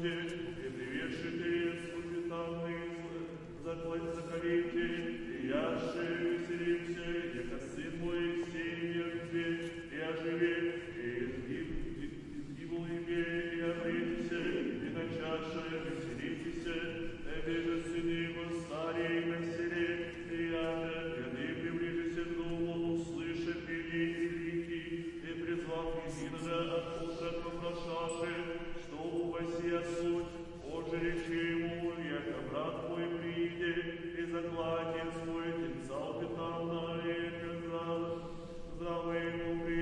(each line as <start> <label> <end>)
0.0 praying 39.8